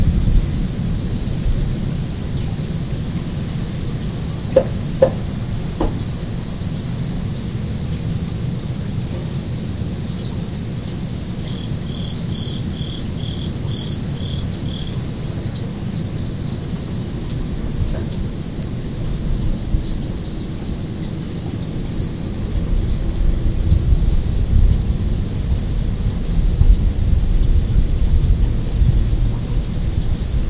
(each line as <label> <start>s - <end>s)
Rain 0.0s - 30.4s
crickets 0.0s - 30.4s